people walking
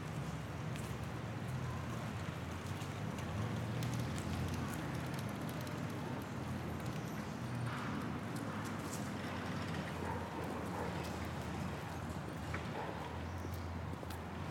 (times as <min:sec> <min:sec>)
0:00.0 0:05.7